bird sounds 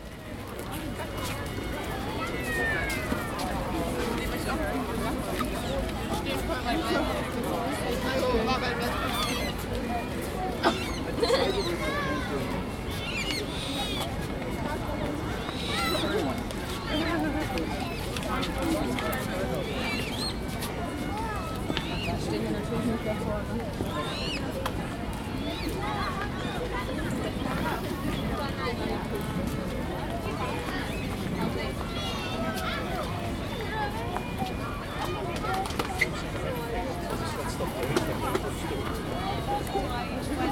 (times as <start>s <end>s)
12.8s 14.1s